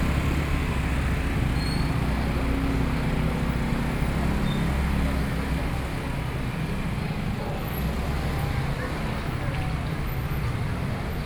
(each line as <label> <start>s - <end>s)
Traffic Sound 0.0s - 5.0s
walking in the traditional market 0.0s - 11.2s